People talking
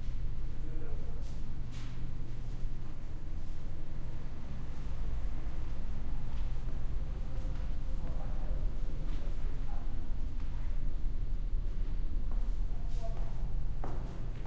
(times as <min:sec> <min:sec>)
0:07.4 0:10.9, 0:12.6 0:13.5